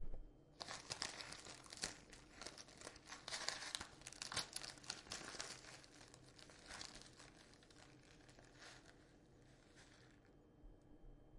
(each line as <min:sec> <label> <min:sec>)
0:00.6 tea in a plastic bag 0:10.4